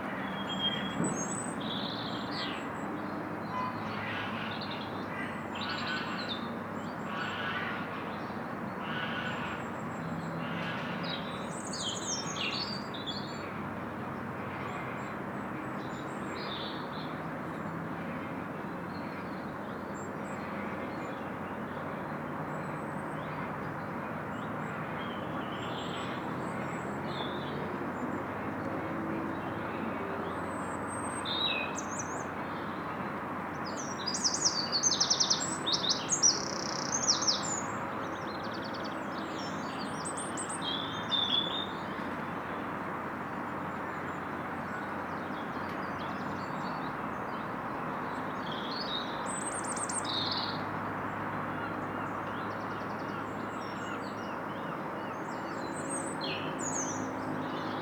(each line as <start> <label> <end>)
0.0 road noise in the background 57.8